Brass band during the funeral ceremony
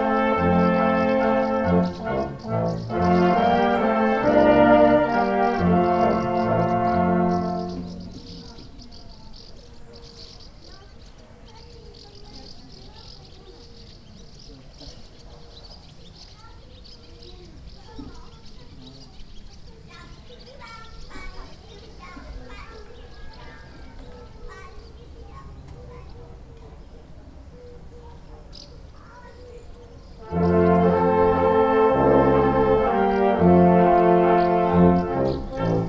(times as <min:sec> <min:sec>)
0:00.0 0:08.8, 0:30.2 0:35.8